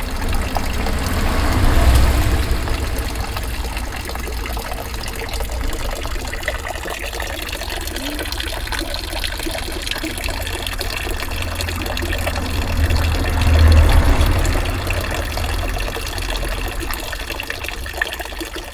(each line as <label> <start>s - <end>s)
fountain 0.0s - 18.7s